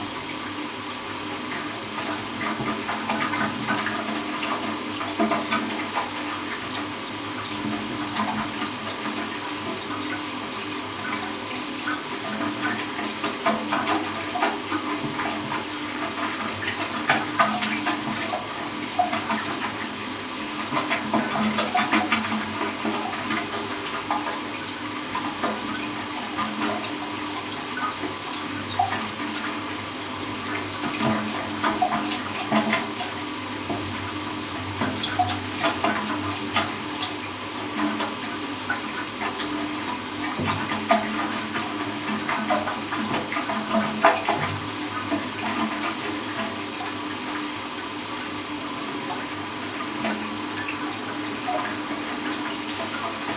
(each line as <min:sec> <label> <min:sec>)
0:00.0 broken flush 0:53.3